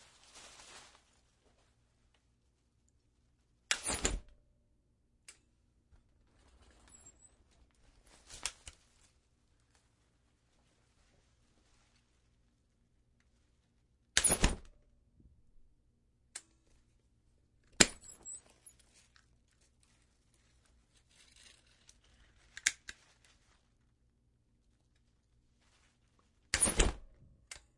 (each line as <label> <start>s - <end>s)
click 5.2s - 5.4s
click 27.5s - 27.7s